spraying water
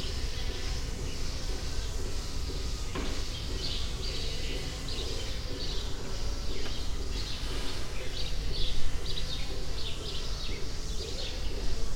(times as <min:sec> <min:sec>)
0:00.0 0:08.6